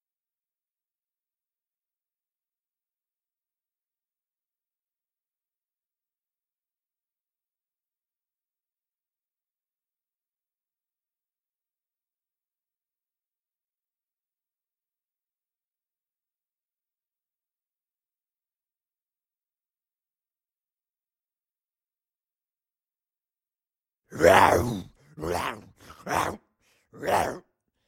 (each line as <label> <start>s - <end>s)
Single groaning zombie 24.1s - 27.5s